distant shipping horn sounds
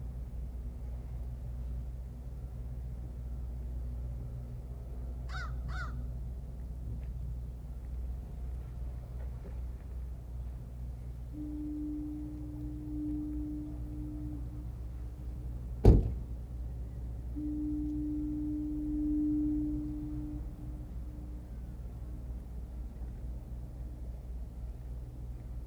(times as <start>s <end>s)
8.8s 25.3s